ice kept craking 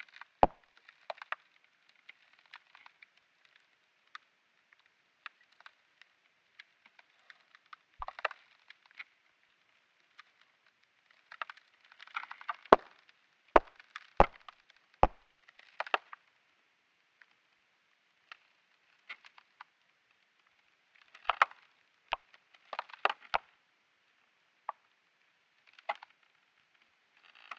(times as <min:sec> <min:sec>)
0:05.2 0:09.2, 0:10.0 0:16.2, 0:21.0 0:23.4, 0:27.2 0:27.5